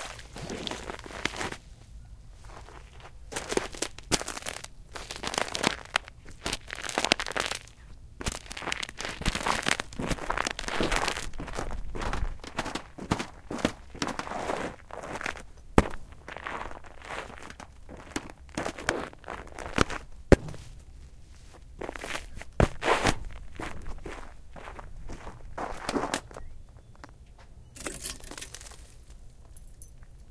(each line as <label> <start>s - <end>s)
walking outside on a layer of ice 0.0s - 27.2s
Icy Water - Cracking 3.5s - 11.4s
walking outside on a layer of ice 27.8s - 30.2s